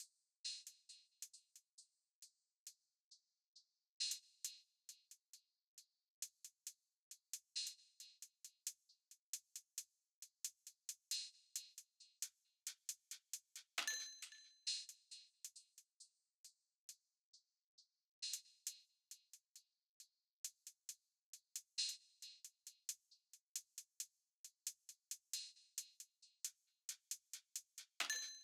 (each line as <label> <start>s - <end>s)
hi-hat 6.2s - 13.9s
hi-hat 20.4s - 28.4s